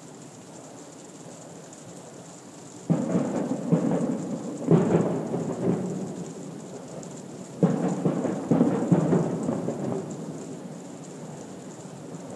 0.0s rain falling softly 12.3s
2.9s fireworks booms 6.2s
7.6s fireworks booms 10.4s

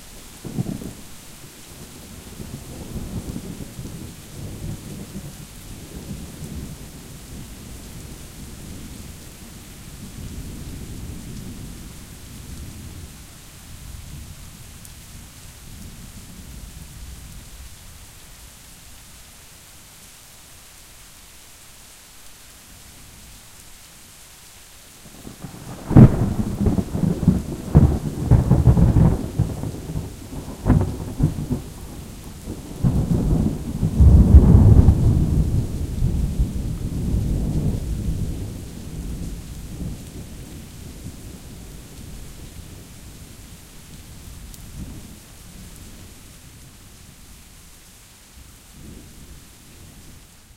0.0s Heavy rain 50.5s
25.3s thunder claps 40.3s

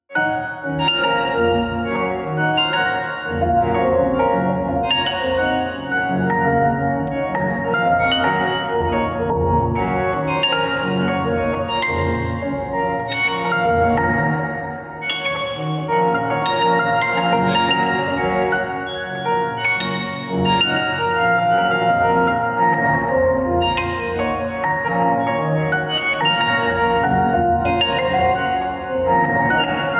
0.1s Piano 29.9s

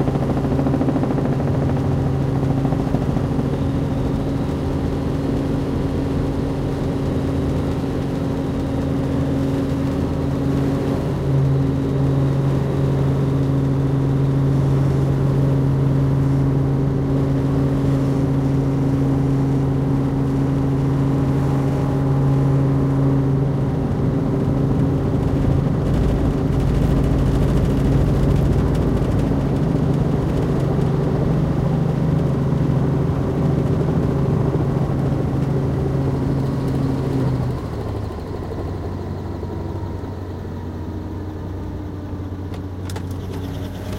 0.0s Flight in a helicopter 43.9s

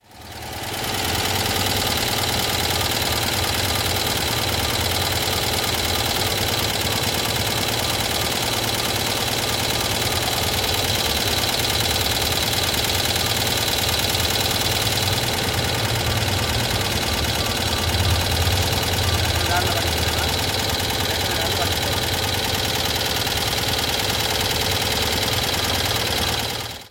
0.0s venerable 2CV engine idling 26.9s

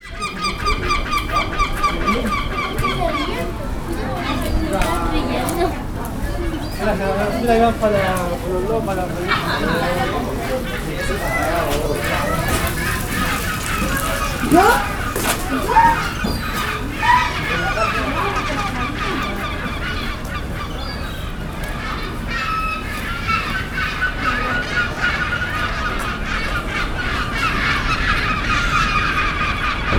0.0s seagulls 29.9s

